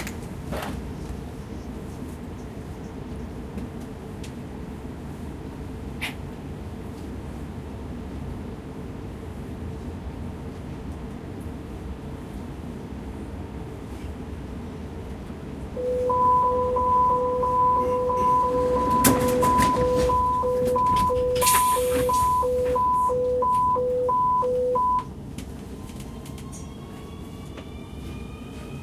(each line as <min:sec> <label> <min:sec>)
0:00.0 ride by Nuernberg U-bahn 0:28.8
0:15.8 voice announcing names of stations 0:21.4
0:15.8 bell announcing closing of the doors 0:24.8